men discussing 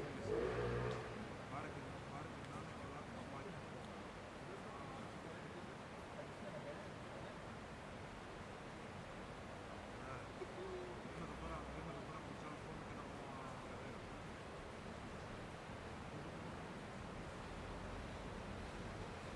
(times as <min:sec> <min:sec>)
0:10.0 0:14.0